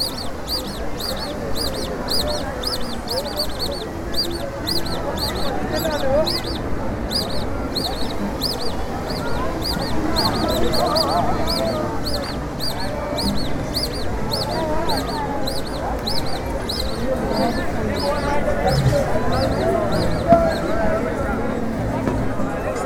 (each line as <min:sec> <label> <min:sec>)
0:17.1 balloon sellers try to attract customers 0:21.6